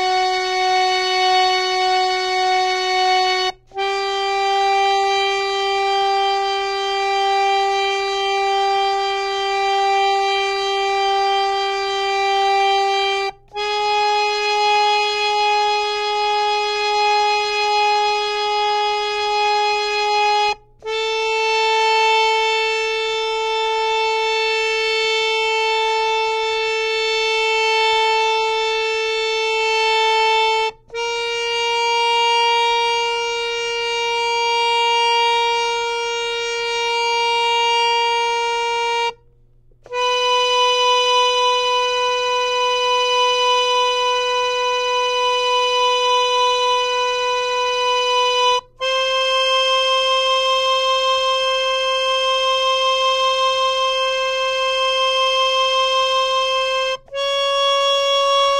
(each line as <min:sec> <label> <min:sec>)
0:00.0 harmonium 0:58.5